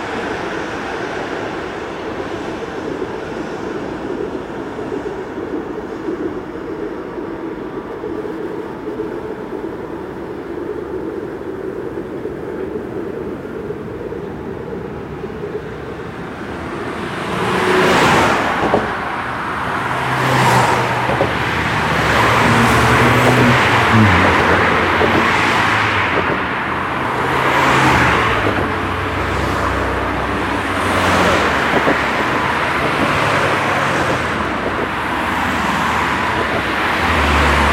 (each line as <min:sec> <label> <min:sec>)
0:00.0 cars crossing a bridge 0:37.7
0:00.0 tram passing by in opposite direction 0:37.7